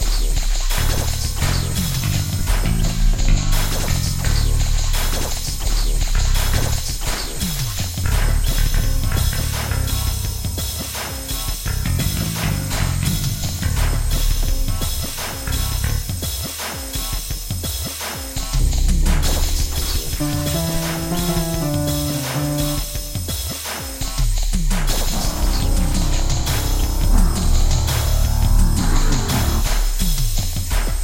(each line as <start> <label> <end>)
0.0 bass 16.4
0.0 drums 31.0
18.4 bass 23.5
24.1 bass 31.0